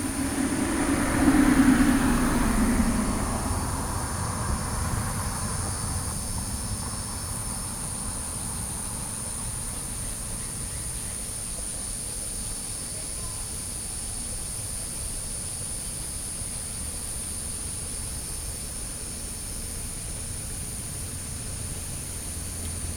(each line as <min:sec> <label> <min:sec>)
0:00.0 Traffic Sound 0:11.4
0:00.0 Cicada sounds 0:22.9
0:19.0 Traffic Sound 0:22.9